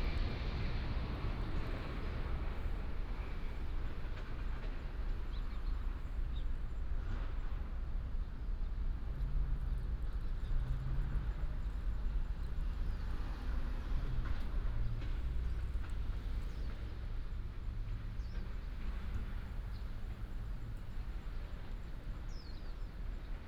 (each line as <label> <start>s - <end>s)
traffic sound 0.0s - 23.4s
birds sound 22.2s - 22.9s